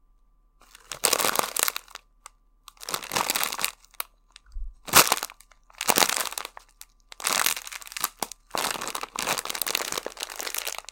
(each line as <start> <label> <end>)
0.6 picking up a packet of crisps 2.0
4.9 picking up a packet of crisps 10.9